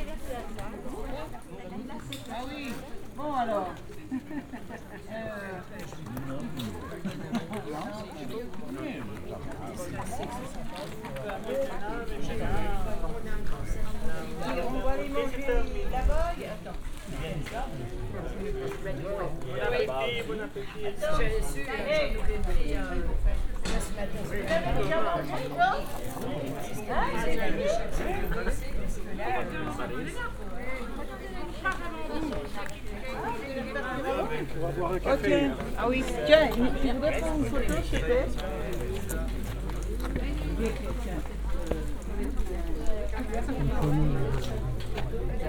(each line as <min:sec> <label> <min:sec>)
0:00.0 large group of French tourists resting and having their lunch 0:45.4